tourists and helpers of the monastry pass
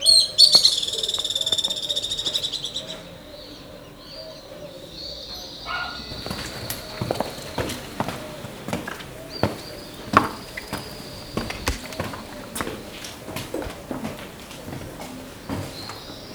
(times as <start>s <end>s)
6.0s 16.3s